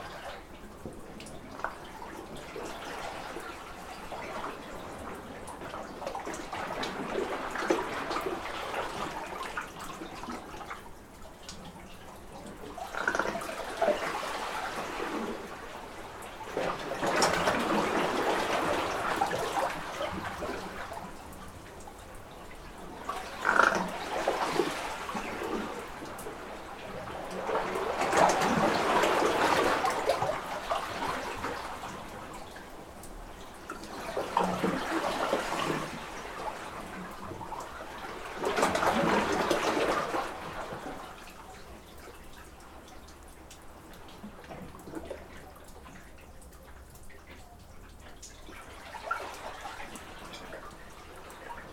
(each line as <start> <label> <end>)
12.7 Burping Water under a small cave 15.5
23.0 Burping Water under a small cave 26.0